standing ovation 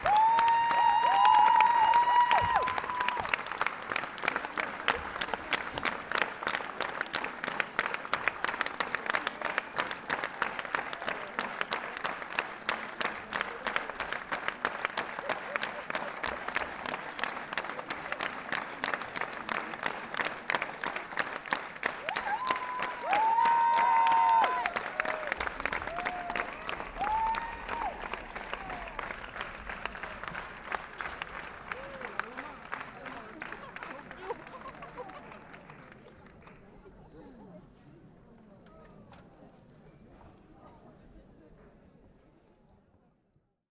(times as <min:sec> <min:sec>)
0:00.0 0:06.2, 0:20.2 0:35.1